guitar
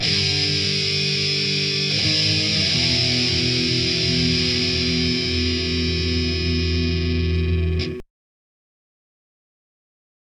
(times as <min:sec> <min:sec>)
0:00.0 0:08.1